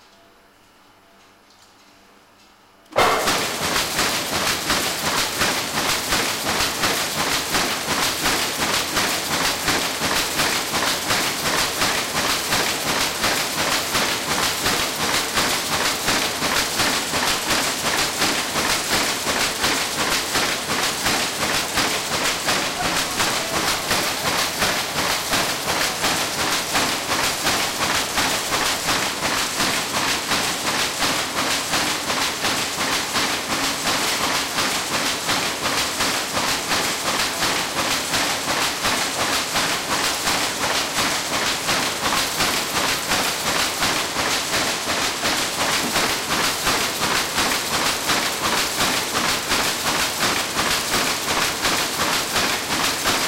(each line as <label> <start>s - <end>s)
automatic loom starts and runs 2.9s - 53.2s